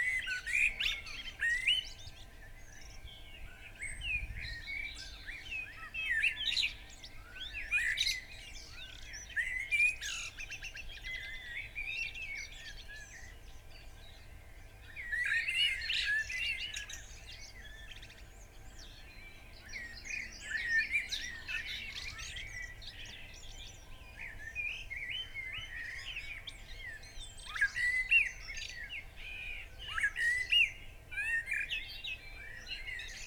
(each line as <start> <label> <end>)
0.0 blackbird song 33.2